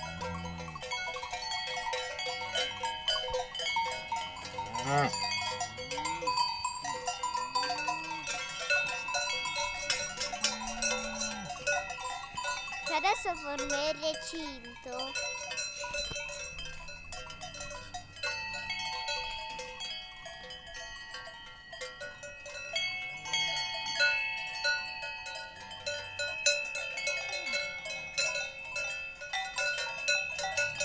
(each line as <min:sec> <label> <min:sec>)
0:00.0 cow bells 0:30.8